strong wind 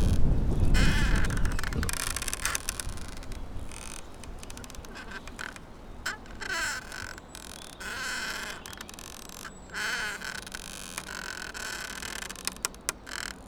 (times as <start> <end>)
0.0 6.4